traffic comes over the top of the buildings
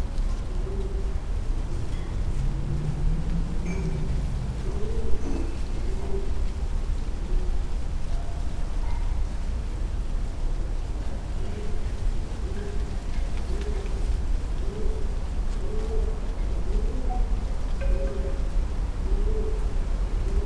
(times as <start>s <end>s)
0.1s 8.7s